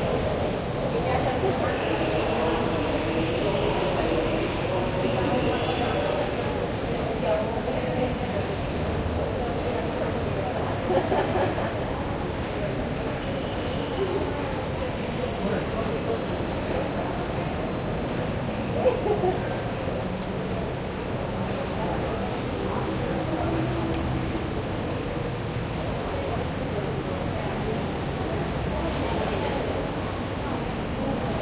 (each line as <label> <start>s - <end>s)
Subway 0.0s - 31.4s